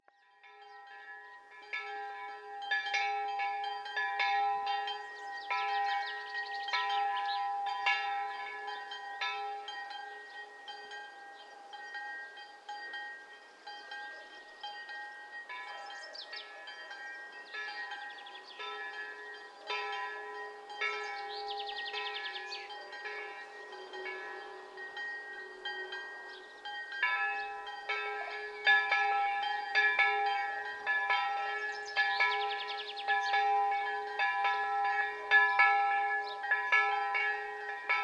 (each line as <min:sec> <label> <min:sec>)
0:00.0 churchbells 0:38.0